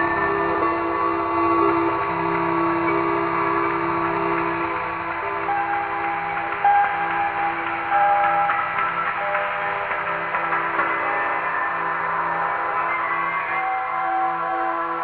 3.6s Bell Train 15.0s

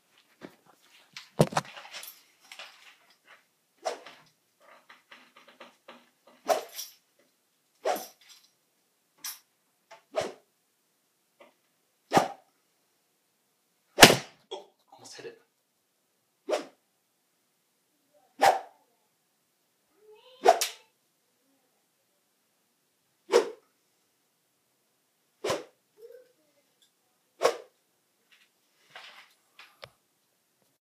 23.3s Swing Whoosh 23.6s
25.4s Swing Whoosh 25.7s
27.4s Swing Whoosh 27.7s

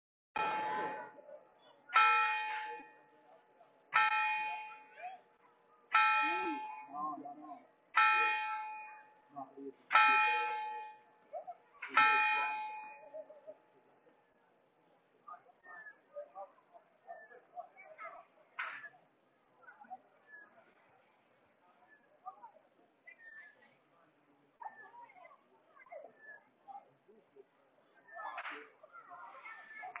0.4s church bells 1.3s
1.9s church bells 3.0s
4.0s church bells 4.9s
5.9s church bells 6.9s
7.9s church bells 9.1s
9.9s church bells 11.0s
11.8s church bells 13.2s

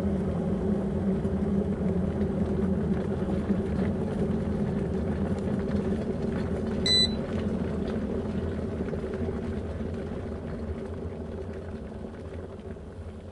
0.0s kettle boiling 13.3s

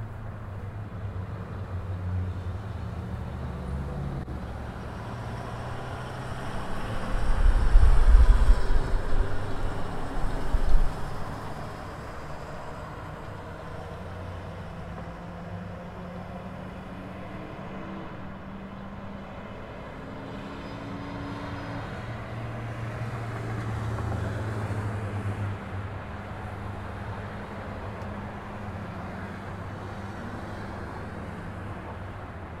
0.0s small town traffic 32.6s

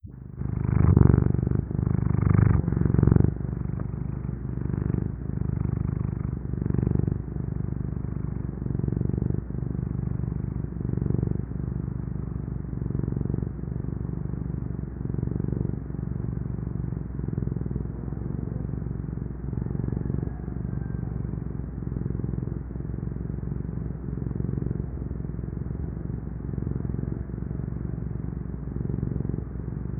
0.0s purr 29.9s

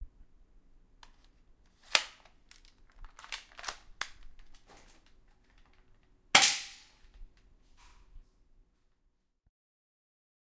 1.8s loading and shooting with an air gun 5.8s
6.4s loading and shooting with an air gun 7.0s

